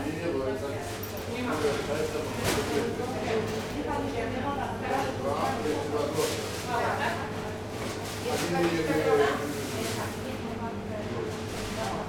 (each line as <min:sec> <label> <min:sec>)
0:00.0 shop assistants explaining the different kind of breads 0:12.0